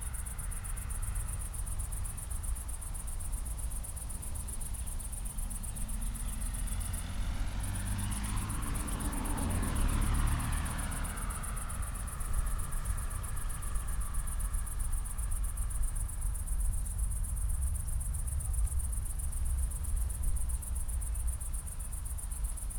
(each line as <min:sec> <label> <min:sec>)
0:05.2 Muscle car is passing by 0:16.1